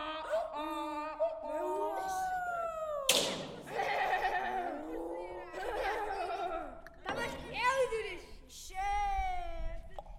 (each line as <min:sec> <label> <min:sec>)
0:03.1 percussions 0:04.4